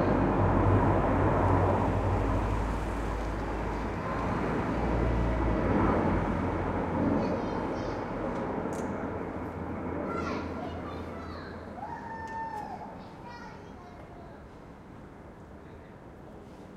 cars passing by in the street 0:00.0 - 0:16.7
jet fighters flying over the silent town 0:00.0 - 0:16.7

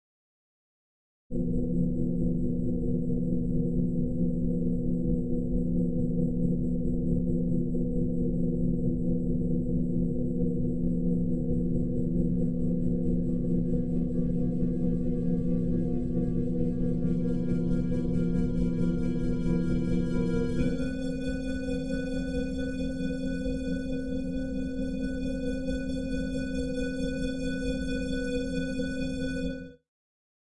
synthesizer 0:11.2 - 0:29.8

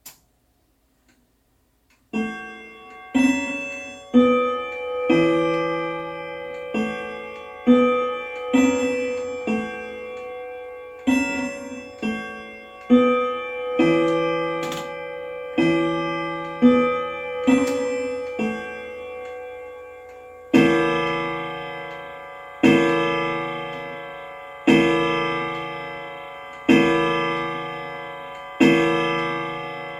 grandfather clock chiming and striking 12 o' clock 0:01.9 - 0:29.9

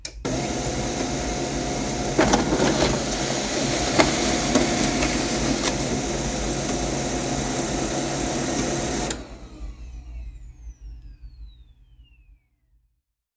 printer printing 0:00.3 - 0:09.9

